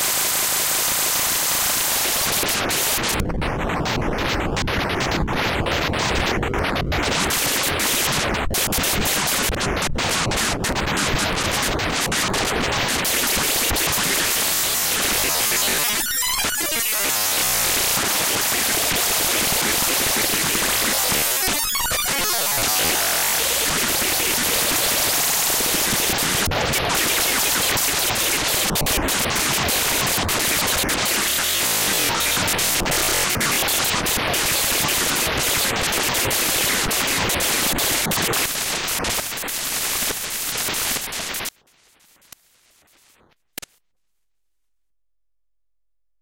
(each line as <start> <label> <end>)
2.1 Abstract Glitch Effects 41.5